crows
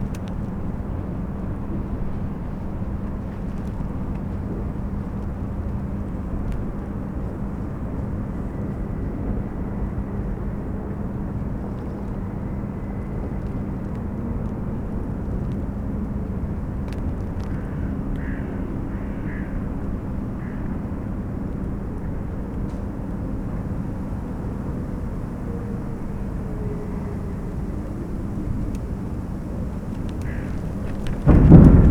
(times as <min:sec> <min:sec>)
0:17.4 0:20.8, 0:30.1 0:31.2